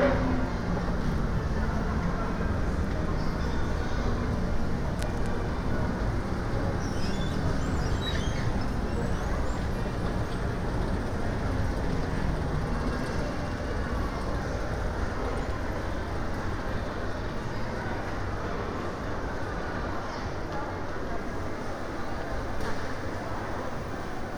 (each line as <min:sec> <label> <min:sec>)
0:00.0 buskers 0:24.3
0:00.0 small PAs on pop-up stalls 0:24.3